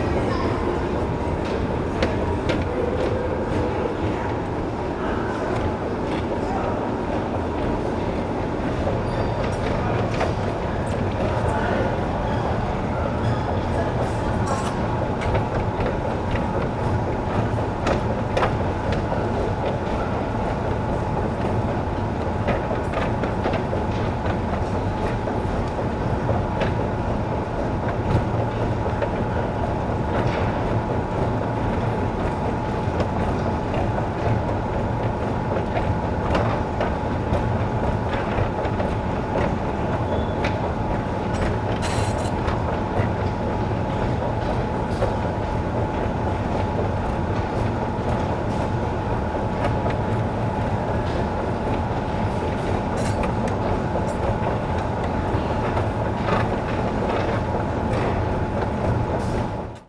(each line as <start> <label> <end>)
0.0 Subway 59.8